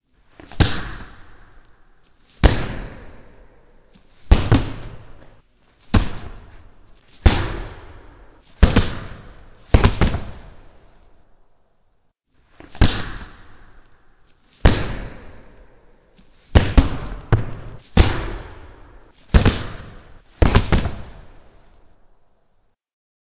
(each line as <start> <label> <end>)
0.5 Punches Hits heavier big boxing 1.4
2.4 Punches Hits heavier big boxing 3.3
4.3 Punches Hits heavier big boxing 5.2
5.9 Punches Hits heavier big boxing 6.6
7.2 Punches Hits heavier big boxing 10.6
12.7 Punches Hits heavier big boxing 13.7
14.6 Punches Hits heavier big boxing 15.6
16.6 Punches Hits heavier big boxing 21.4